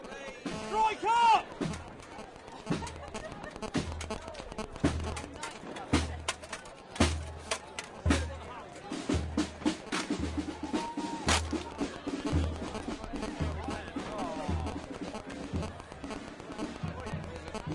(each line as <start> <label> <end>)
0.0 Crowds of people 17.7
0.0 band drums 17.7
0.1 fireworks going off 5.7
0.2 shouting 1.5
7.0 chanting 17.7
9.8 fireworks going off 17.7
10.4 shouting 12.1